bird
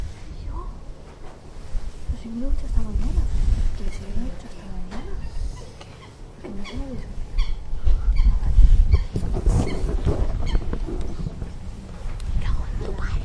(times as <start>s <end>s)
4.9s 11.4s